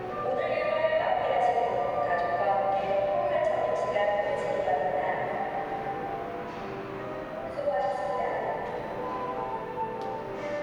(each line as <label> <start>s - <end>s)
announcement for employees 0.1s - 6.5s